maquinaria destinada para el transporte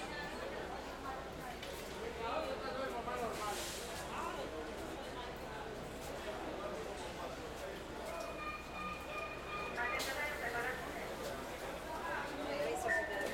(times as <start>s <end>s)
6.1s 13.3s